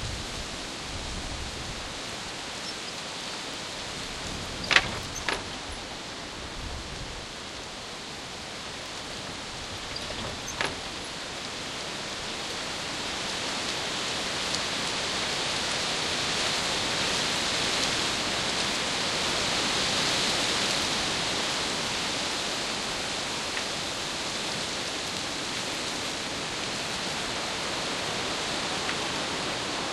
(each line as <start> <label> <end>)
0.0 strong wind 2.6
2.6 large wooden gates padlocked together with a chain 13.1
3.5 strong wind 13.9